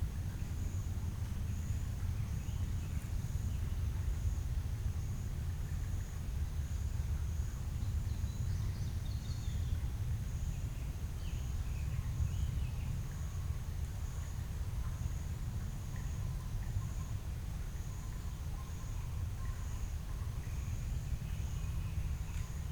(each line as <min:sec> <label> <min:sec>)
0:00.0 small stream running through the large, open-ended concrete box 0:22.7
0:00.1 insects 0:22.7